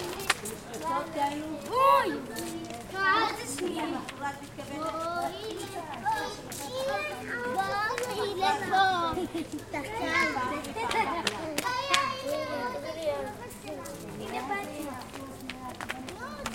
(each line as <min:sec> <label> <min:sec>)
0:00.0 Shabbat prayer 0:16.5
0:00.0 children 0:16.5